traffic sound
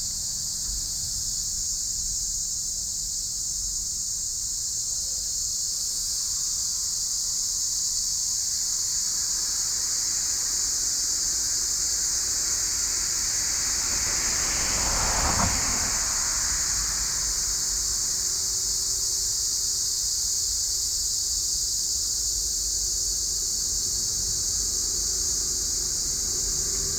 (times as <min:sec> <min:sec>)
0:08.8 0:21.0, 0:22.0 0:26.9